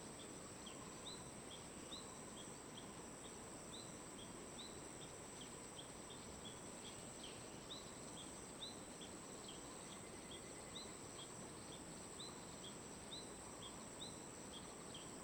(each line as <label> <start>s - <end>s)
stream 0.0s - 15.2s